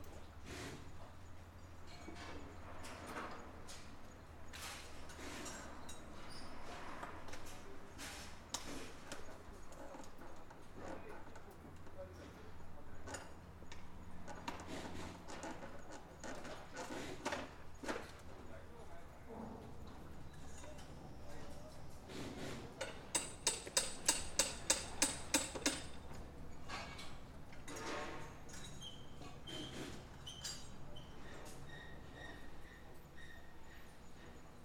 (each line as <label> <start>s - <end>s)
builders completing the frame of a modern wooden house 0.0s - 34.6s